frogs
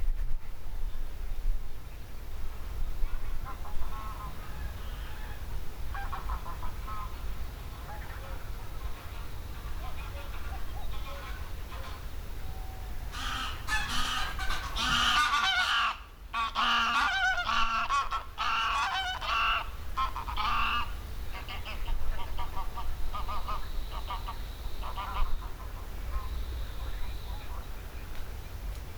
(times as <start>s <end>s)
7.8s 15.6s, 18.7s 27.8s